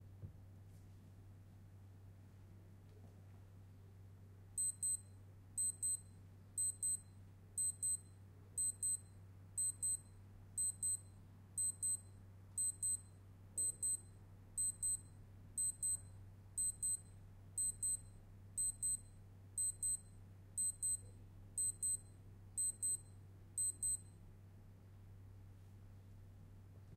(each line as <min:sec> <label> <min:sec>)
0:04.6 Alarm on a Casio Watch 0:05.0
0:05.6 Alarm on a Casio Watch 0:24.1